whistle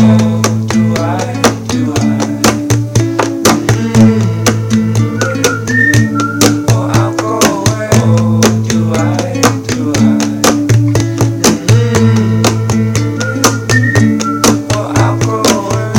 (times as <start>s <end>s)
4.9s 7.0s, 12.6s 15.6s